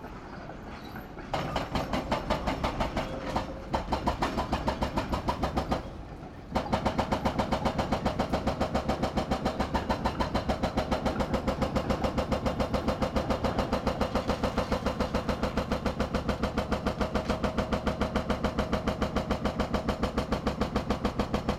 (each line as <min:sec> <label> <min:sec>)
0:00.0 trams rolling nearby 0:07.7
0:00.1 excavator with a pneumatic hammer crushing a concrete wall 0:21.5